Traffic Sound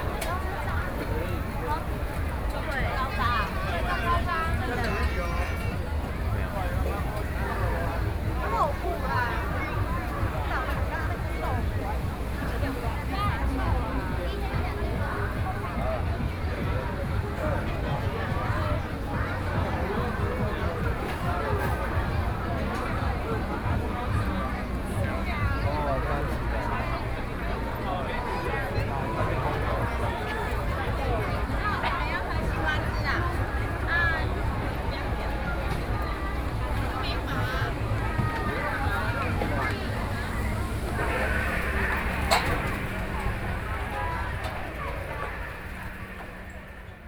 0:25.9 0:47.0

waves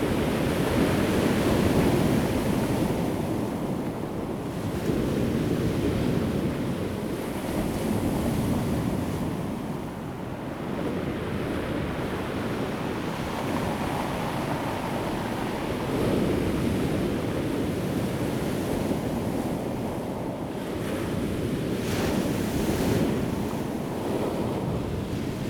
0:11.8 0:25.4

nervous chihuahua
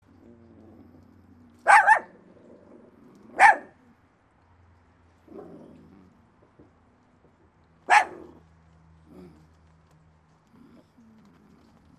0:00.0 0:04.0

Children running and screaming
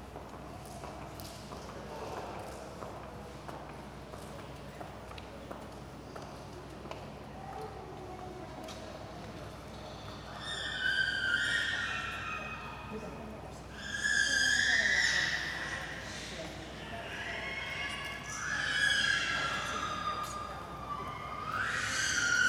0:10.4 0:12.8, 0:17.1 0:22.4

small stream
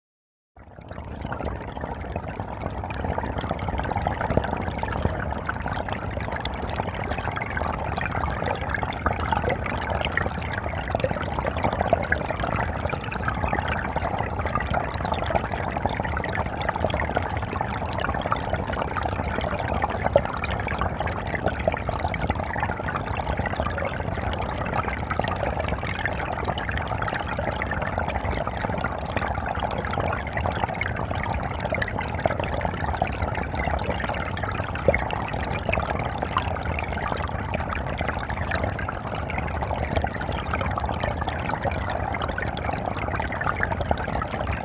0:16.1 0:44.6

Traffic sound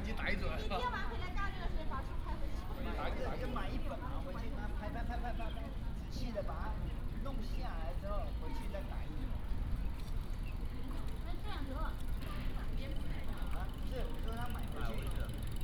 0:03.6 0:15.6

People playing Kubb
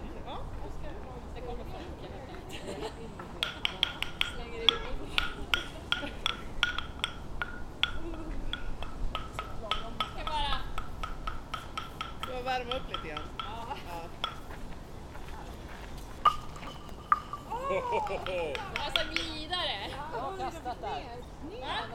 0:02.3 0:15.2, 0:16.1 0:20.7

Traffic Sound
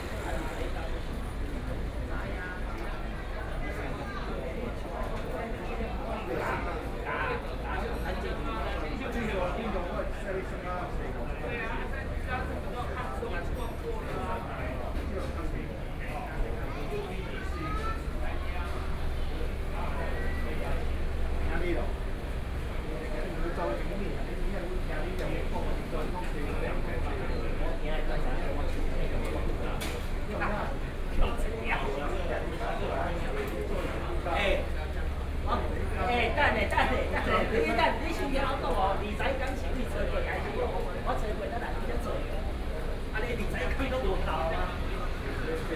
0:00.0 0:03.7

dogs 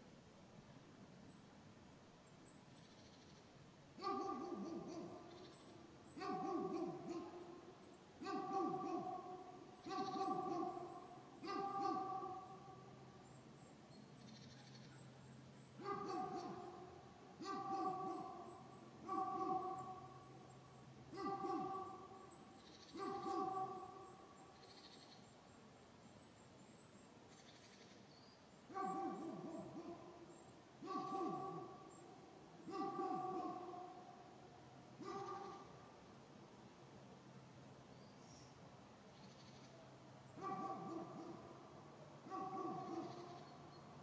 0:04.0 0:05.5, 0:06.2 0:12.9, 0:15.8 0:20.5, 0:21.1 0:24.4, 0:28.7 0:34.2, 0:35.0 0:35.8, 0:40.4 0:41.6, 0:42.2 0:43.6

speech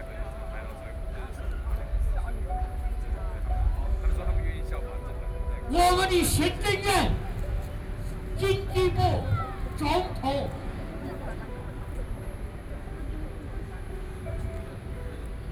0:00.0 0:07.5, 0:08.4 0:12.1

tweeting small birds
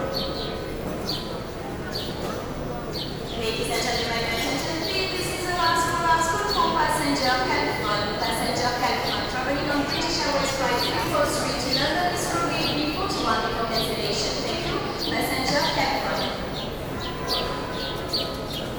0:14.6 0:18.7

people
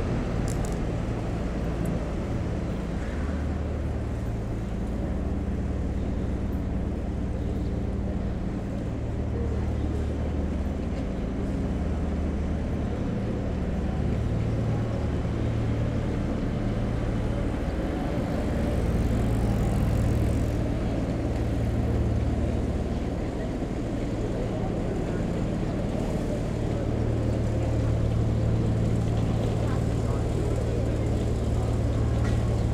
0:16.7 0:32.7

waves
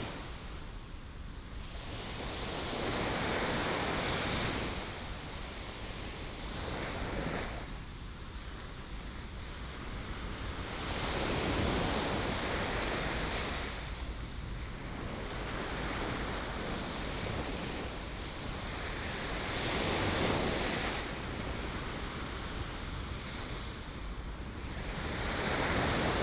0:09.8 0:26.2

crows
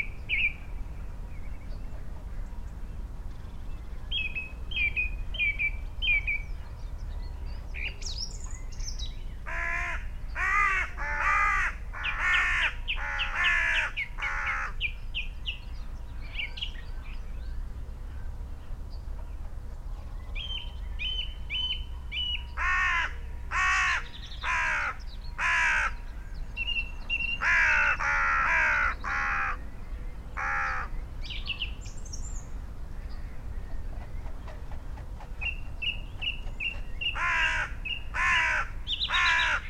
0:09.5 0:14.8, 0:22.6 0:26.0, 0:27.4 0:29.6, 0:30.4 0:30.9, 0:37.2 0:39.6

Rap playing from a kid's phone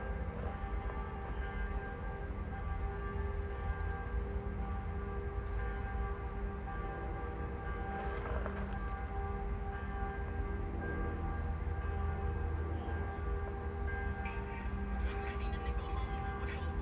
0:14.3 0:16.8

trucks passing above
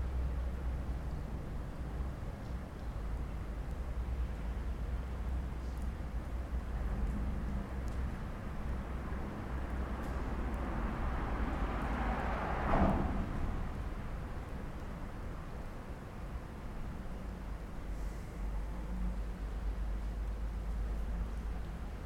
0:08.7 0:16.3

